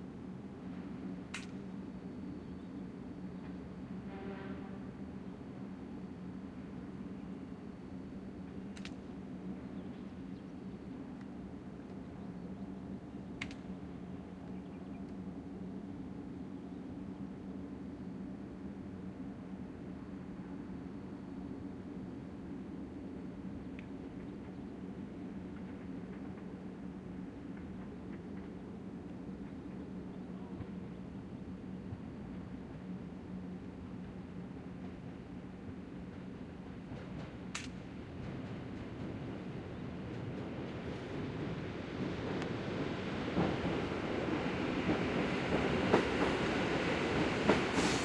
passinh by train 0:00.0 - 0:48.0
subtle sounds of the meadow 0:00.0 - 0:48.0

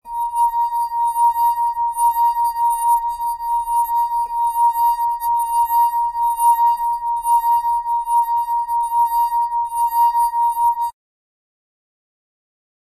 playing a wine glass 0:00.1 - 0:10.9

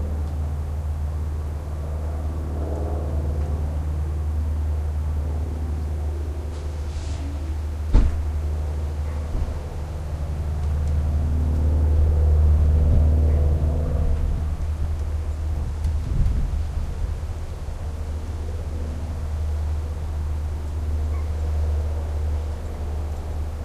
raw airplanes 0:00.0 - 0:23.6
wind 0:00.0 - 0:23.6
birds 0:17.4 - 0:23.6

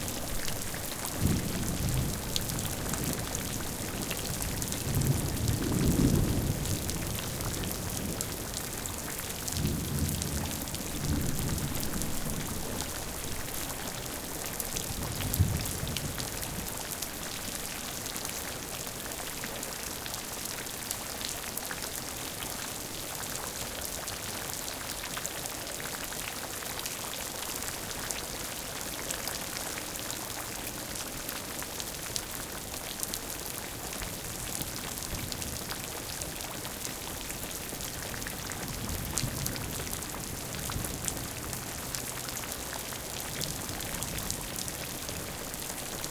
Rain recording that was done underneath a corrugated iron roof 0:00.0 - 0:46.1
thunder 0:01.2 - 0:08.2

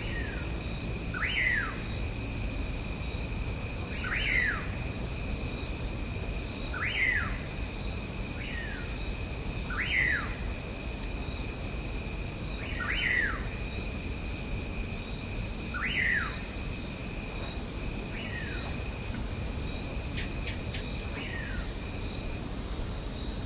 bugs 0:00.0 - 0:23.4

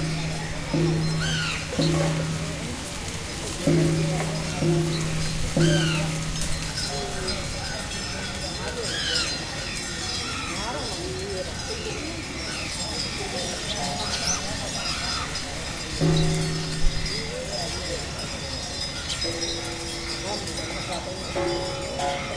bells 0:00.0 - 0:22.3
voices in Bkg 0:00.0 - 0:22.3
crows 0:13.9 - 0:15.5

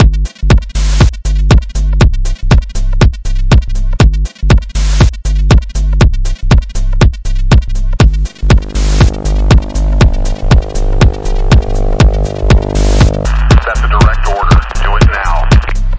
Techno beat 0:00.0 - 0:15.9
voice sample tagged on end 0:08.6 - 0:15.8

